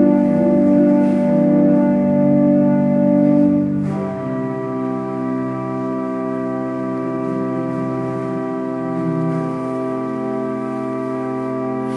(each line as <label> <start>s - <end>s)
Organ performance 0.0s - 11.9s